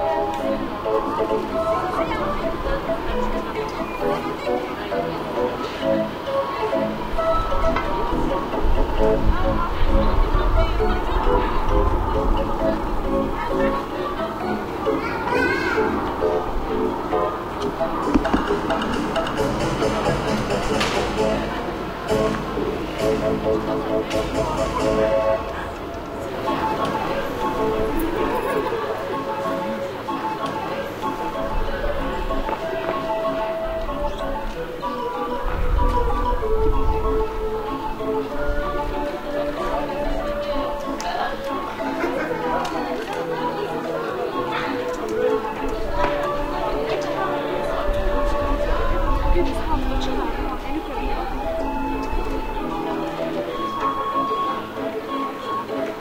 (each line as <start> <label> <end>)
0.0 People walk by 56.0
13.3 kids run across shouting and laughing 19.1